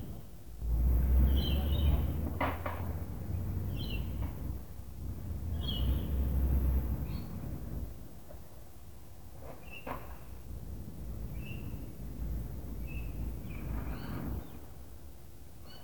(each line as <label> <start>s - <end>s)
cars passing 0.6s - 7.0s